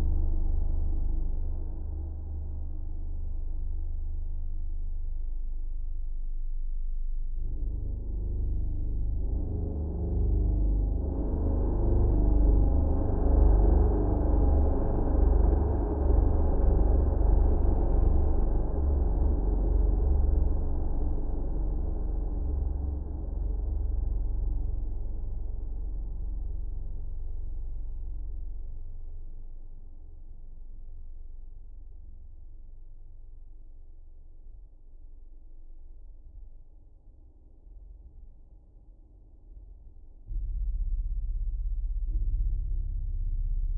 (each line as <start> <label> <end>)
0.0 deep bass drone made with an guitar 36.4
40.2 deep bass drone made with an guitar 43.7